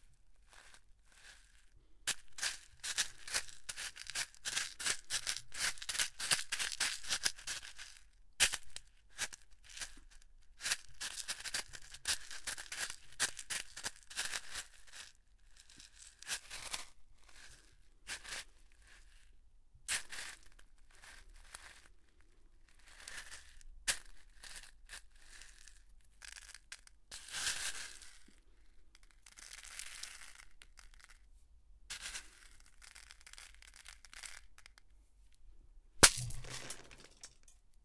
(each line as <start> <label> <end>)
0.6 footsteps on gravel/small pebbles 9.8
10.6 footsteps on gravel/small pebbles 15.1
36.0 footsteps on gravel/small pebbles 37.4